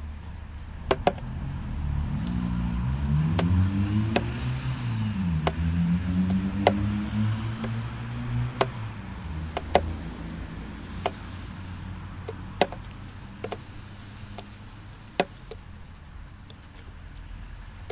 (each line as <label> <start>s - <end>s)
meltwater drops dropping from the roof 0.0s - 17.9s